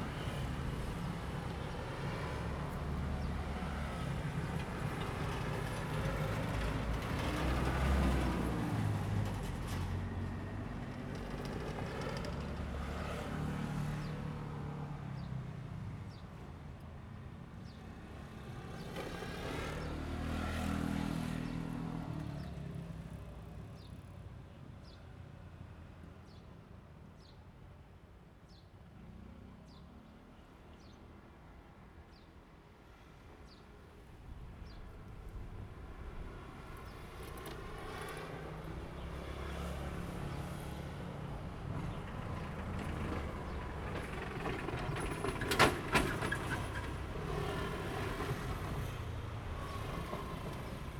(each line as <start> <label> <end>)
0.0 The train passes by 15.6
0.0 Traffic sound 26.4
28.4 Traffic sound 50.9
32.9 The train passes by 50.9